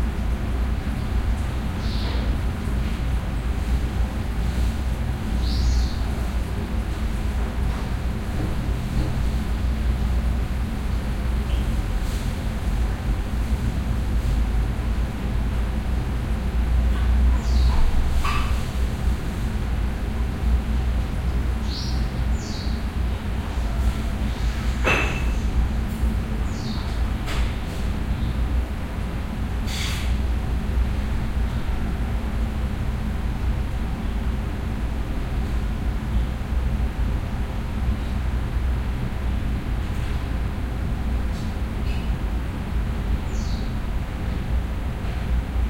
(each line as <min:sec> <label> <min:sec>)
0:00.0 hum from a ventilator 0:45.6
0:17.4 bird calls 0:18.5